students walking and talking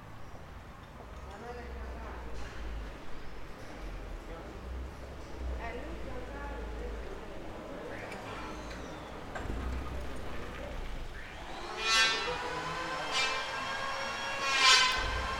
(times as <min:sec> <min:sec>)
0:01.1 0:11.6